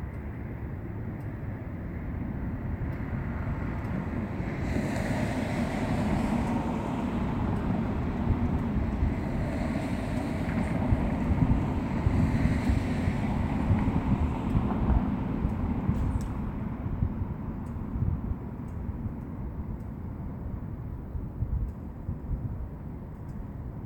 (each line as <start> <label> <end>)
1.8 Cars Passing 18.7